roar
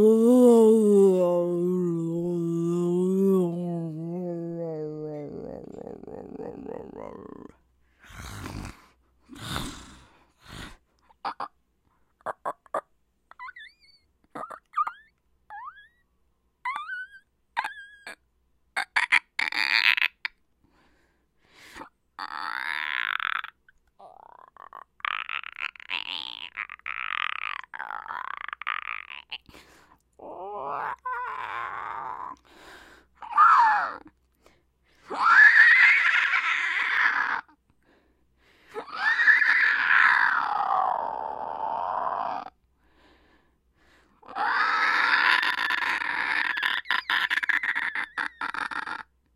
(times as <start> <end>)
6.6 10.1, 39.0 42.5